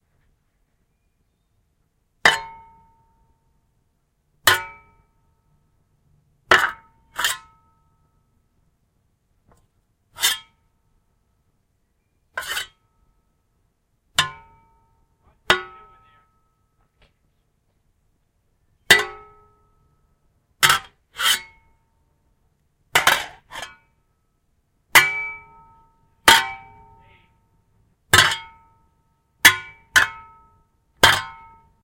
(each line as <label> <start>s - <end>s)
Fighting with shovels 23.0s - 23.8s